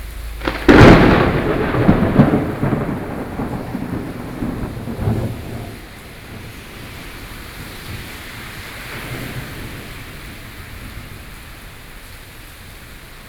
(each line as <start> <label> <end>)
0.0 Thunderstorm 13.2